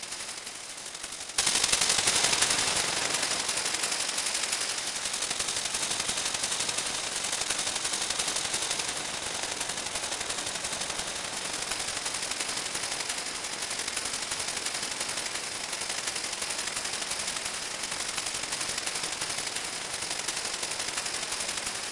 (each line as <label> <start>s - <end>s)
shaker sounds distorted and looped 1.0s - 21.9s